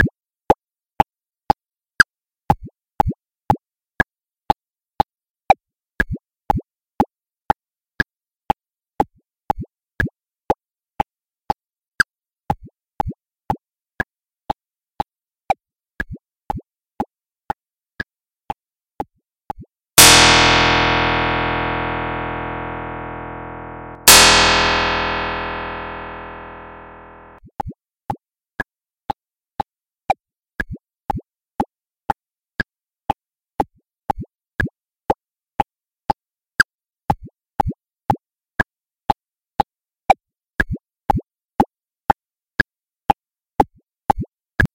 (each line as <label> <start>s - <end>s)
Pluck 20.0s - 27.3s
Click Track 20.0s - 27.4s